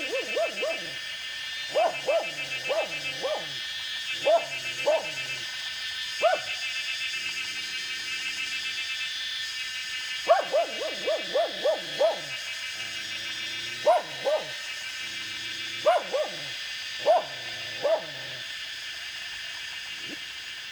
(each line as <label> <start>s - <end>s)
Dogs barking 0.0s - 6.9s
Cicada sounds 0.0s - 20.7s
Dogs barking 10.1s - 18.6s